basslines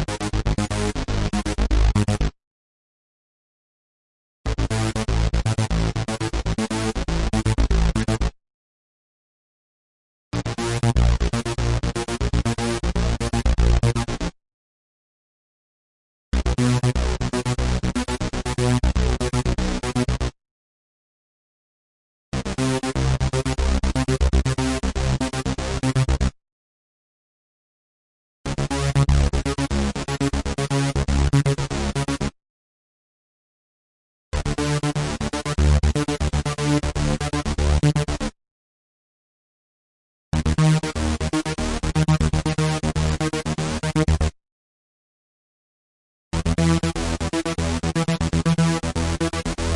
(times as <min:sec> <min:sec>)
0:00.0 0:02.4, 0:04.5 0:08.4, 0:10.4 0:14.4, 0:16.3 0:20.4, 0:22.4 0:26.4, 0:28.5 0:32.4, 0:34.4 0:38.4, 0:40.4 0:44.4, 0:46.3 0:49.7